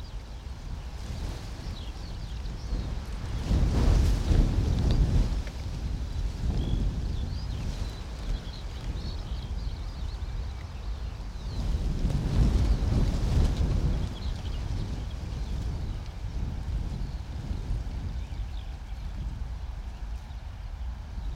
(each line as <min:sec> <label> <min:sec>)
0:00.0 Wind blowing through the bramble hedge 0:21.3